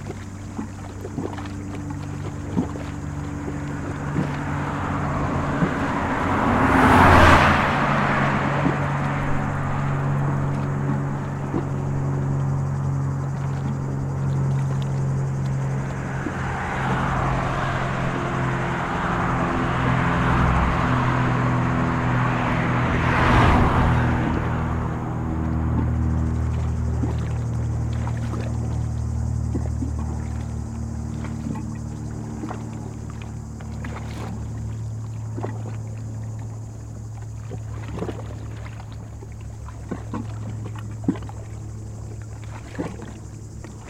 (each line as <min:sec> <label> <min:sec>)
0:00.0 Bateaux sur le lac 0:43.8
0:01.4 Véhicules de passage 0:33.7